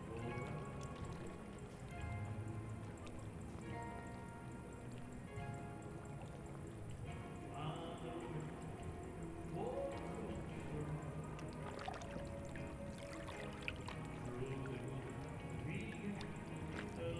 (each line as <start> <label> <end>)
0.0 slow waves 17.1
6.9 terrace singer is performing a song 17.1